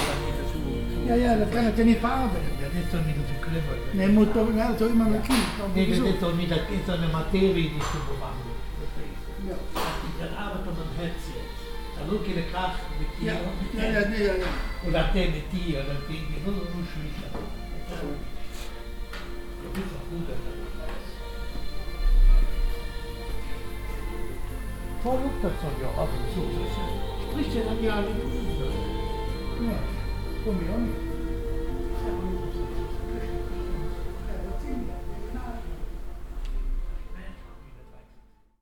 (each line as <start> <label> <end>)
0.0 owner and two friends talking in local slang 38.4
0.0 german schlager music from a radio 38.6